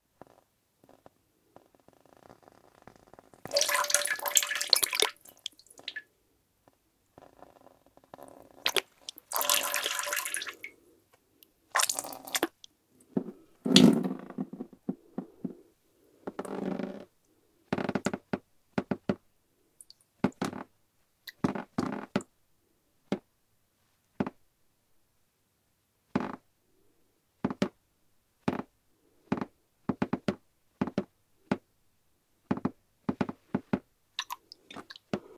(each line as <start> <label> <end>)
2.1 wet cloth 6.1
3.5 splash 6.0
3.5 bubble 6.0
3.5 drain 6.0
3.5 dripping 6.0
3.5 gurgle 6.0
3.5 trickle 6.0
3.5 water pour 6.0
8.2 wet cloth 10.8
8.6 dripping 10.7
8.6 trickle 10.7
8.6 water pour 10.7
8.6 drain 10.8
8.7 bubble 10.7
8.7 gurgle 10.7
8.7 splash 10.7
11.7 trickle 12.5
11.7 drain 12.6
11.7 dripping 12.6
11.7 wet cloth 14.0
11.8 gurgle 12.5
11.8 splash 12.5
11.8 bubble 12.6
11.8 water pour 12.6
34.2 drain 35.0
34.2 dripping 35.0
34.2 wet cloth 35.3